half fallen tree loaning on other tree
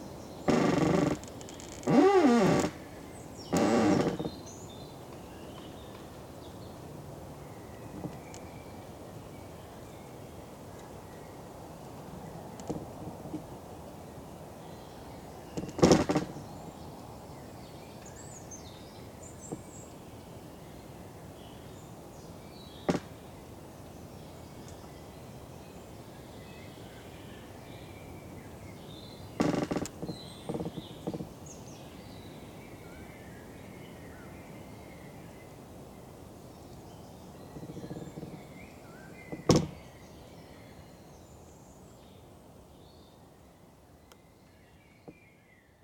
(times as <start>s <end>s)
0.4s 4.6s, 15.5s 16.4s, 22.8s 23.2s, 29.4s 31.5s, 37.5s 39.9s